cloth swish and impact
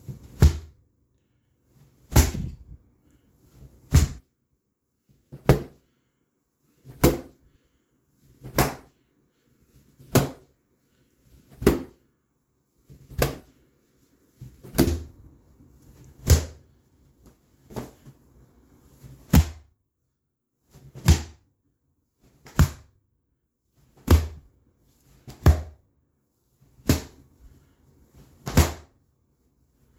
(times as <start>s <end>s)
2.0s 2.8s, 3.5s 4.2s, 6.8s 7.3s, 11.3s 12.0s, 12.9s 13.6s, 14.4s 16.6s, 17.2s 19.6s, 26.8s 28.9s